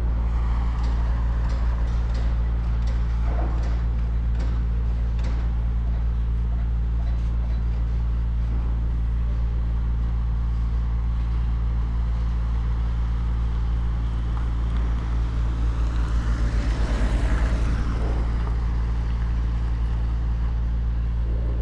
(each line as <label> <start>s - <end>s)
Major Construction Site 0.0s - 21.6s